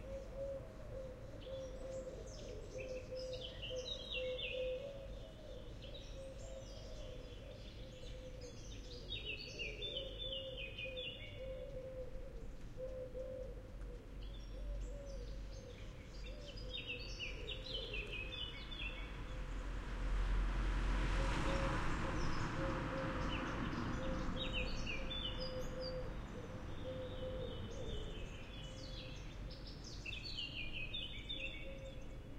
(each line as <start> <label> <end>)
0.0 blackbird 19.1
0.0 nightingale 19.4
15.2 cars passing by slowly 32.3
21.8 nightingale 32.3
22.2 blackbird 32.3